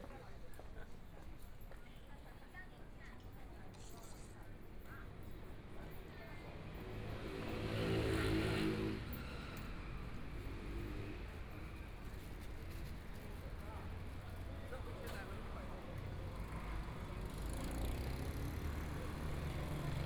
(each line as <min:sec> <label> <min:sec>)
0:00.0 Walking on the street 0:20.0
0:07.1 Traffic Sound 0:20.0